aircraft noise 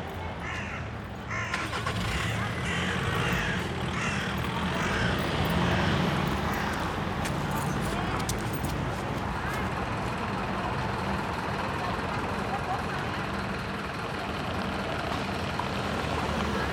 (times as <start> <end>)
0.0 9.6